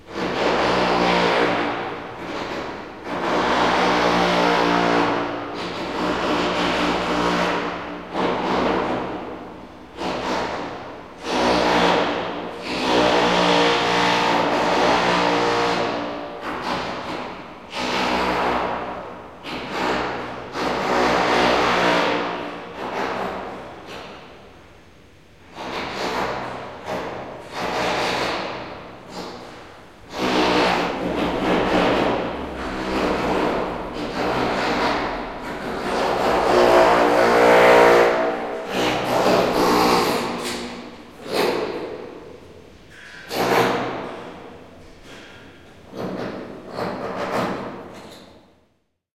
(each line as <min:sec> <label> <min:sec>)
0:00.0 obnoxious construction sound 0:48.5